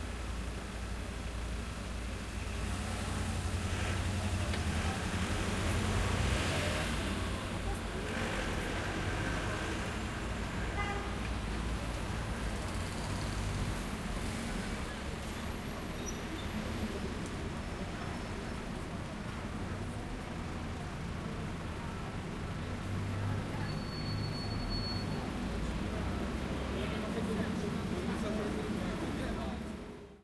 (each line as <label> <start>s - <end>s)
Traffic 0.0s - 30.2s